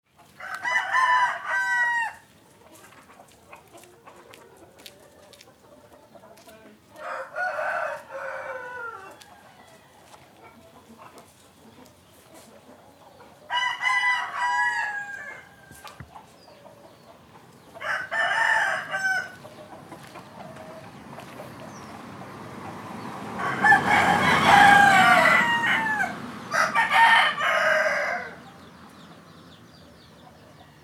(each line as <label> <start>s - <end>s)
Roosters 0.1s - 30.8s